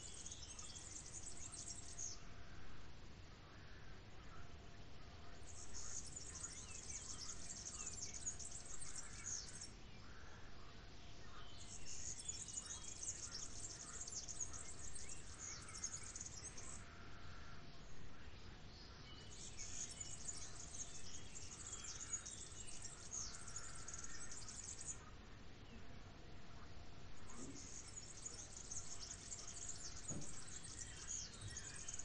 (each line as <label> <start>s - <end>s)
birds are singing 0.0s - 32.0s
frogs are croaking 3.9s - 18.3s
frogs are croaking 19.6s - 25.2s